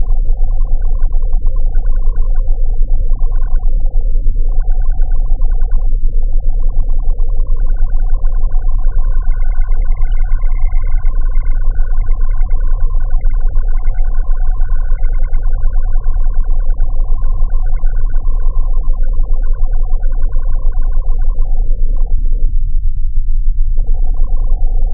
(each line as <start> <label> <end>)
0.0 rumble 24.9
6.5 Bubbling 21.5